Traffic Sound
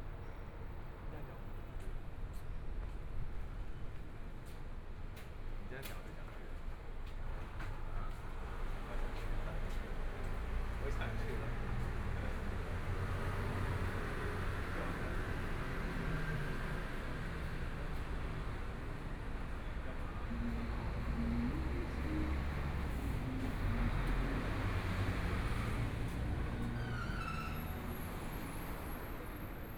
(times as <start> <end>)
8.4 29.7